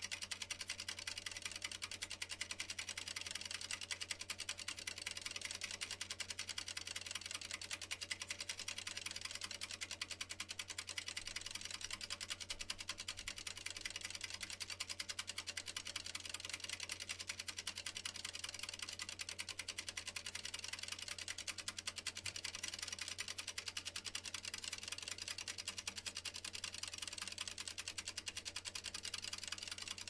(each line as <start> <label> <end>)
0.0 mechanical timer 30.0